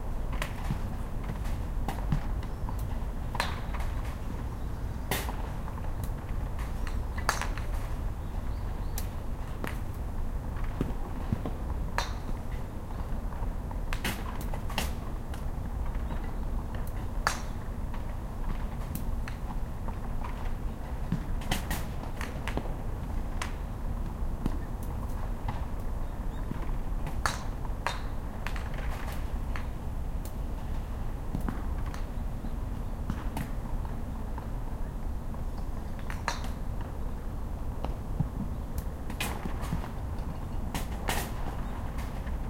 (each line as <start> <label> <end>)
0.3 balls and the grilles 4.5
6.6 Birds 9.6
13.7 balls and the grilles 32.2
37.8 balls and the grilles 42.4